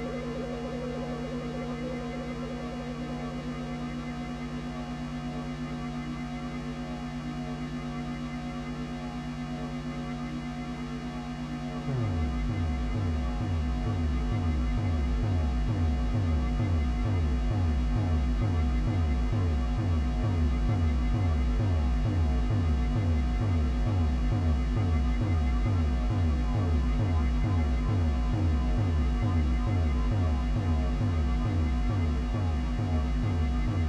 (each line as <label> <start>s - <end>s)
Drone 0.0s - 33.8s
feedbacks 11.9s - 21.7s